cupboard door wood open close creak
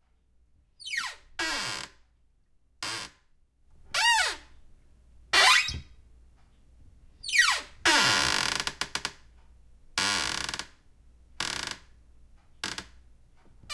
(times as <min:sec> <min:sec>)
0:05.4 0:06.0